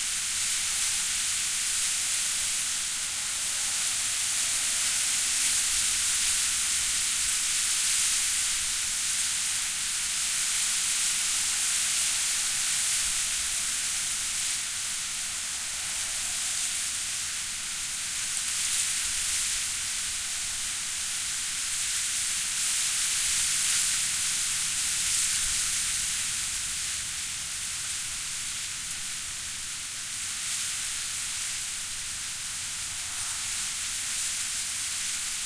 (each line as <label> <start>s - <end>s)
Reeds, bulrushes, common reeds, rustle and whiz 0.0s - 35.4s